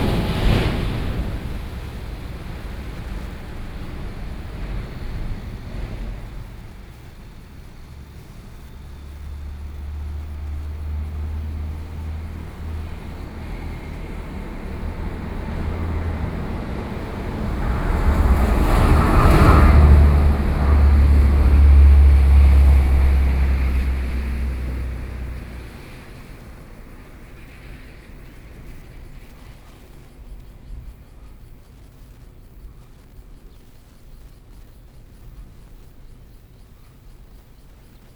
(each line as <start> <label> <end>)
0.0 Thunder 29.7
0.0 Train traveling through 33.2
0.0 traffic noise 33.9